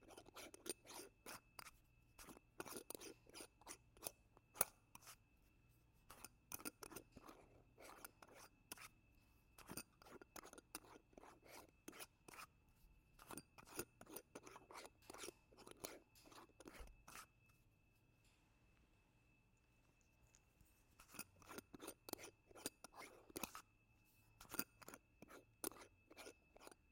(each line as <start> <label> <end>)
24.4 twisting the tin bottle cap off-and-on from a glass bottle 26.8